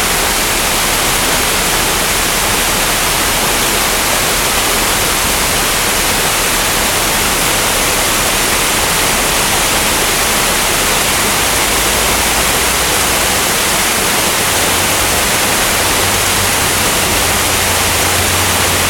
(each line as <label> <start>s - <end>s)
Fountain 0.0s - 18.8s